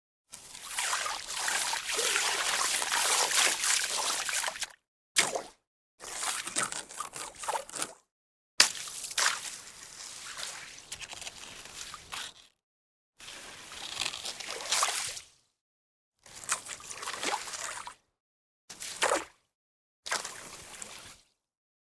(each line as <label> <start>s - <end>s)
stick to splash the slush on top of a frozen pond 0.3s - 12.6s
stick to splash the slush on top of a frozen pond 13.2s - 15.5s
stick to splash the slush on top of a frozen pond 16.2s - 18.0s
stick to splash the slush on top of a frozen pond 18.7s - 19.5s
stick to splash the slush on top of a frozen pond 20.1s - 21.4s